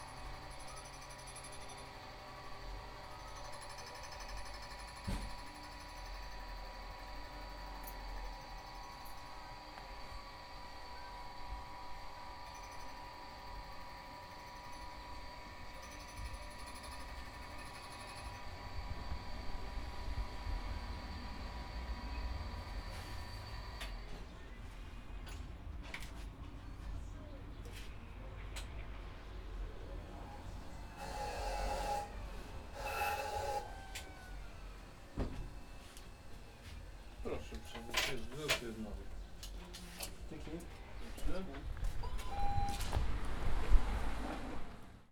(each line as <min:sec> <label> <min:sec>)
0:30.6 bench grinders 0:35.6